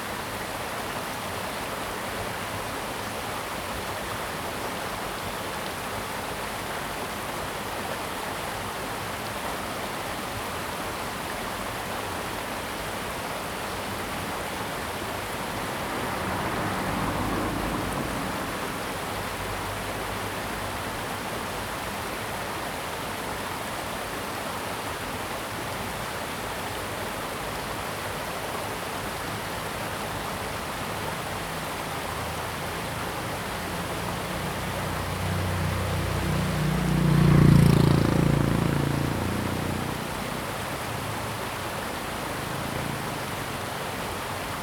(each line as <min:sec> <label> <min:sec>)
0:00.0 stream 0:44.6